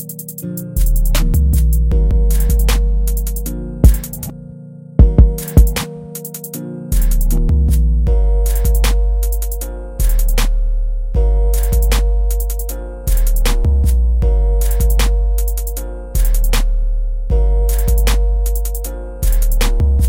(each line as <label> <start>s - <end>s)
drums 0.0s - 4.3s
Sad Guitar Melody 0.4s - 7.0s
drums 5.0s - 7.4s
drums 14.6s - 16.7s
drums 17.7s - 20.0s